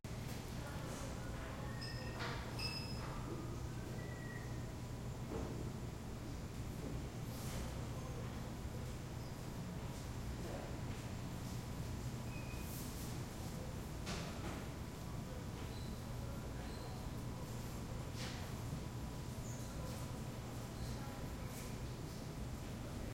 0.1s light ventilation 23.1s

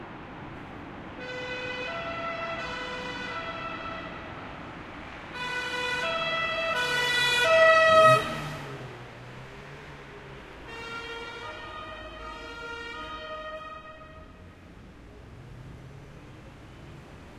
5.3s police car goes by with its siren on 9.0s

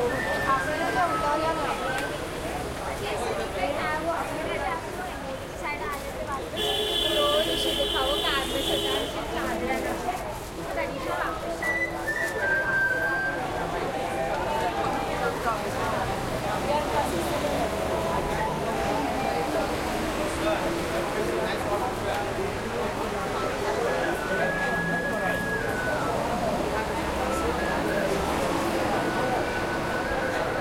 0.0s +flute 2.3s
0.0s heavy busy crowd people vendors 30.6s
11.0s +flute 15.6s
23.4s +flute 30.6s

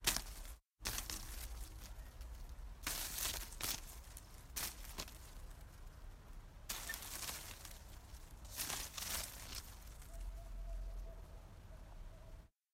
0.0s Hitting a Bushes 5.7s
0.0s Wind 12.6s
6.7s Hitting a Bushes 10.1s

